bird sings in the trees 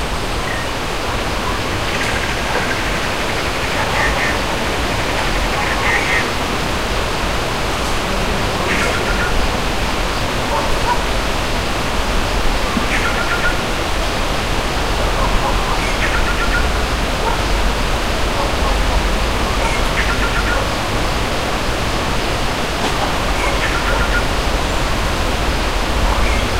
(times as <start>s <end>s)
8.6s 9.4s, 12.8s 13.6s, 15.5s 16.8s, 23.3s 24.3s, 26.0s 26.5s